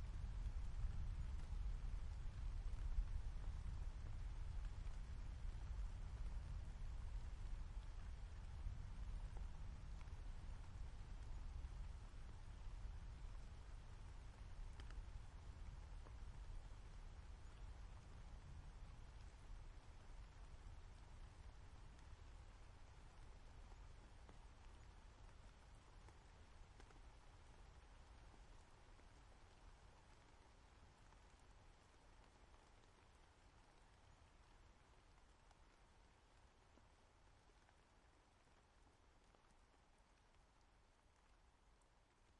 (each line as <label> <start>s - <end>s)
Rain 0.0s - 42.3s